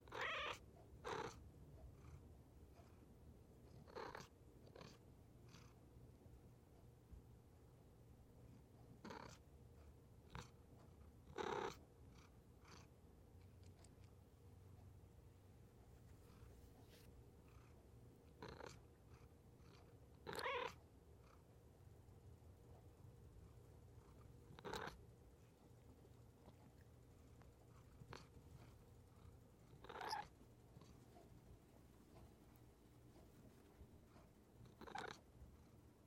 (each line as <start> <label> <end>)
0.1 Cat Meowing 1.3
0.1 purr 2.2
3.6 purr 5.8
9.0 purr 9.4
11.2 purr 14.1
16.1 purr 21.5
20.3 Cat Meowing 20.8
23.9 purr 25.0
27.5 purr 31.2
34.1 purr 35.3